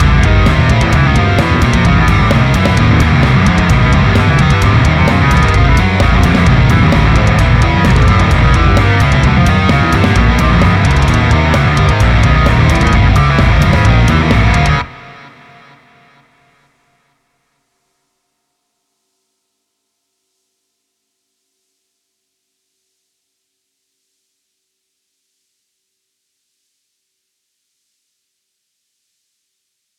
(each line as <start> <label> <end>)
0.0 bass 14.9
0.0 drums 16.4
0.0 guitar 16.7